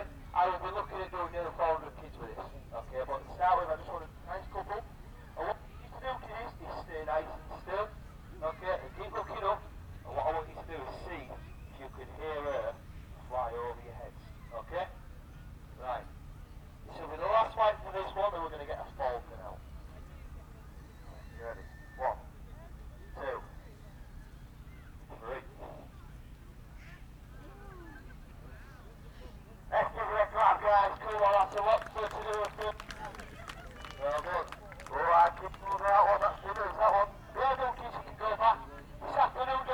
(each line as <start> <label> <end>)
0.0 falconer with radio mic through the PA system 15.0
16.9 falconer with radio mic through the PA system 19.6
20.8 falconer with radio mic through the PA system 24.0
20.9 eagle owl 22.2
29.1 falconer with radio mic through the PA system 39.7